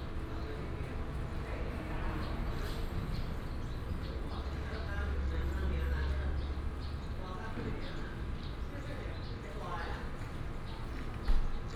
6.4s birds 11.7s

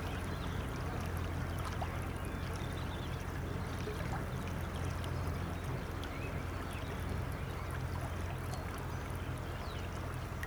0.0s river 10.4s

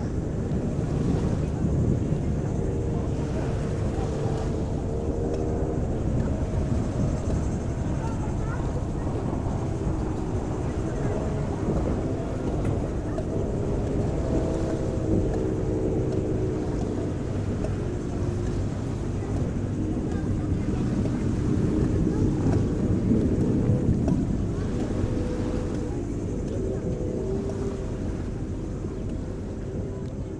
0.0s Beach sounds 30.3s

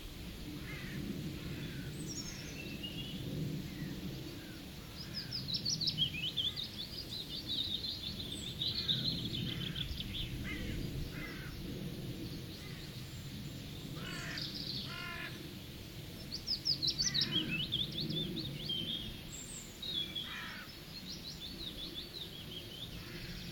0.0s Birds calling close and from a distance 23.5s

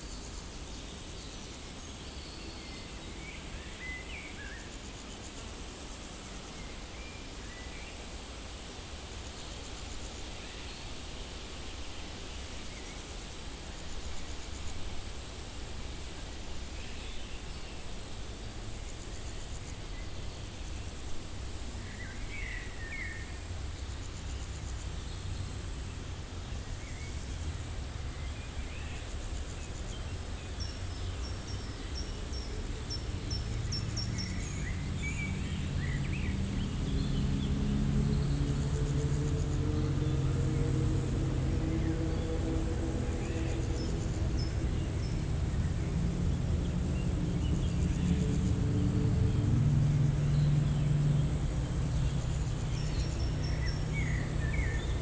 0.0s insectes stridulent dans une prairie sèche 55.0s
33.3s ronronnements de motos plus ou moins agressifs 47.4s

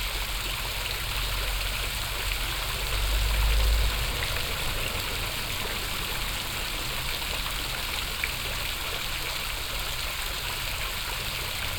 0.0s fountain 11.7s
0.2s traffic 11.7s
2.8s train passing by 8.2s

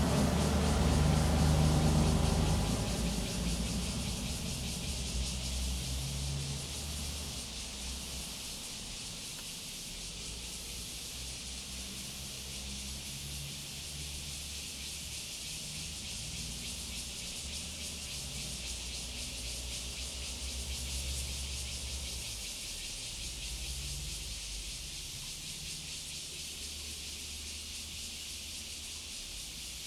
0.0s traffic sound 9.4s
0.0s Cicada sound 29.8s

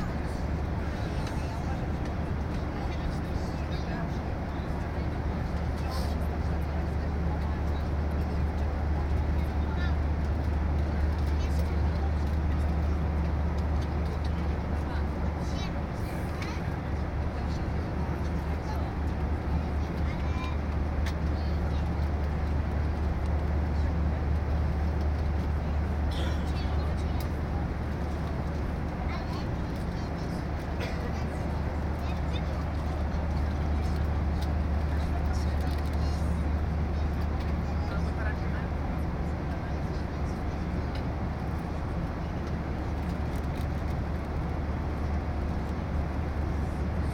0.0s Inside airplane during landing 47.1s

